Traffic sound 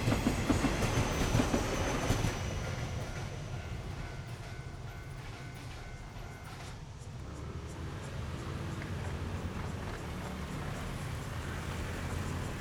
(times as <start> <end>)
5.6 12.6